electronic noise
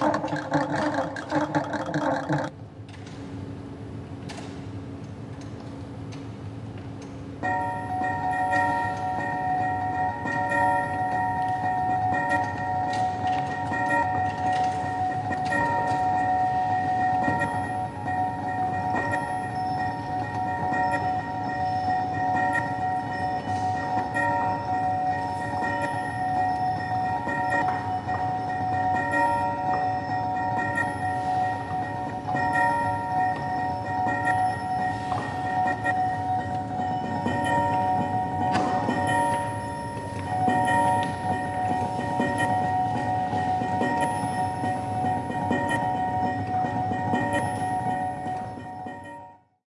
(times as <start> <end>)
0.0 2.5